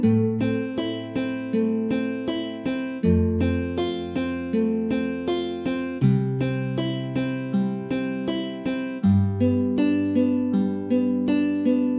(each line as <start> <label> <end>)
0.0 guitar 11.9